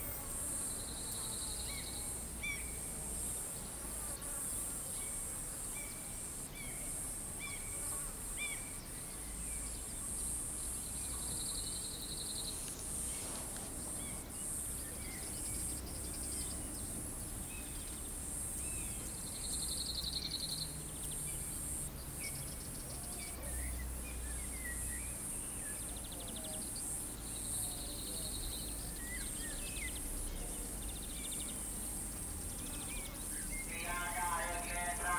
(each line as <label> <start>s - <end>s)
distant amplified voice echoing from the hills 33.6s - 35.1s